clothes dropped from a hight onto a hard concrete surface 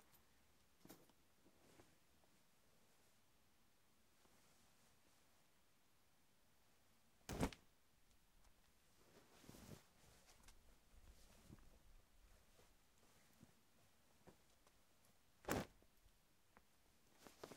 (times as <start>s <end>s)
7.3s 7.6s, 15.4s 15.8s